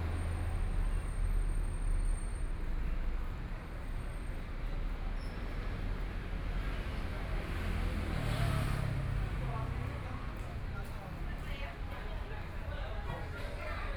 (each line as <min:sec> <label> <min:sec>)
0:07.2 Various shops voices 0:13.9